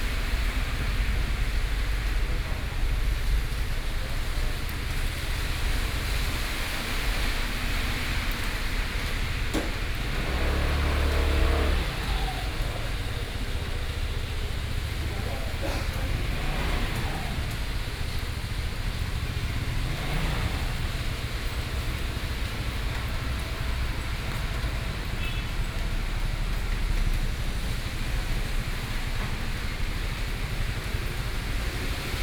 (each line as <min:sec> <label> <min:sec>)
0:00.0 Rainy Day 0:32.2
0:09.8 Vehicle sound 0:32.2